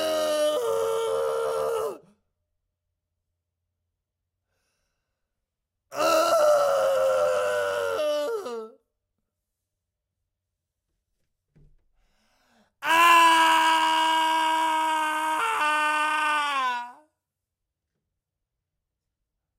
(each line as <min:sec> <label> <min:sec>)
0:00.0 Male screaming close to the mic 0:02.1
0:05.9 Male screaming close to the mic 0:08.8
0:12.8 Male screaming close to the mic 0:17.1